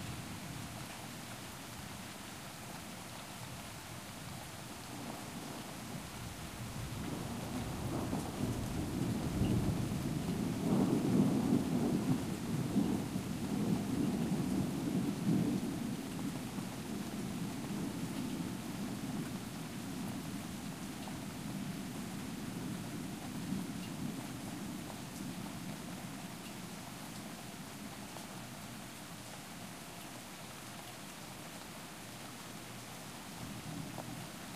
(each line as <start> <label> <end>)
0.0 steady rain 34.5
0.0 wind 34.5
6.9 thunder 19.3